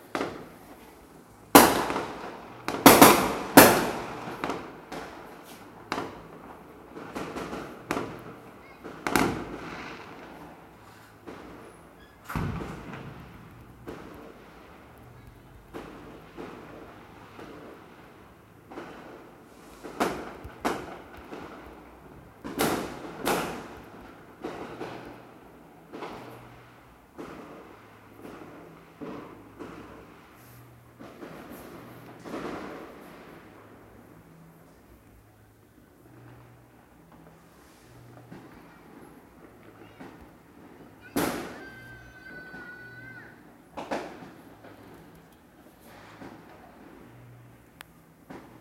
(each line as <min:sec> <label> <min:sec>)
0:01.5 gun shot 0:04.6
0:12.3 gun shot 0:14.1